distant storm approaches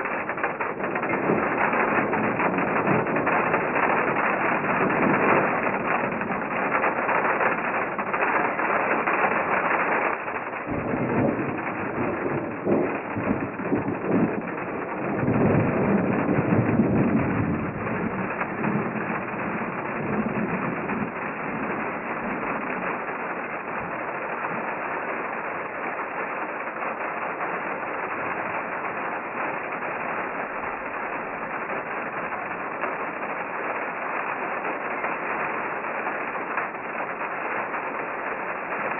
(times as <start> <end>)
9.4 25.4